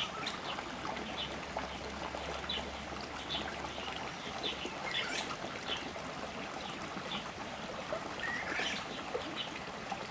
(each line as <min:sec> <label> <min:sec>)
0:00.0 Stream 0:10.1